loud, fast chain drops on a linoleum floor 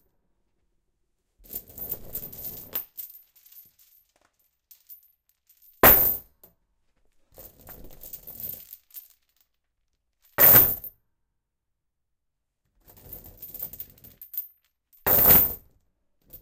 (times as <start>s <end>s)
1.4s 6.5s, 7.3s 9.6s, 10.2s 11.0s, 12.8s 16.4s